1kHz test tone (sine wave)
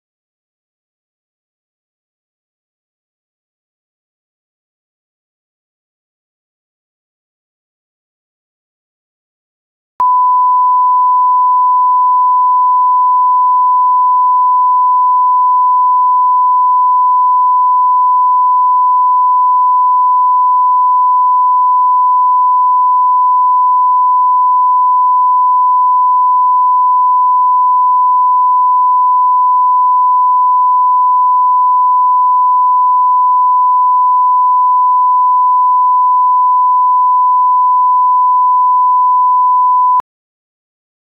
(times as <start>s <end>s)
10.0s 40.0s